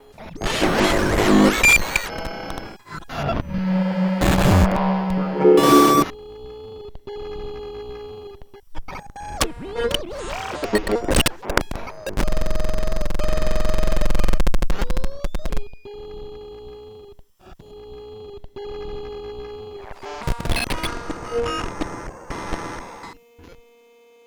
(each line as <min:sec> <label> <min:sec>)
0:00.4 synthesis-produced contents 0:06.1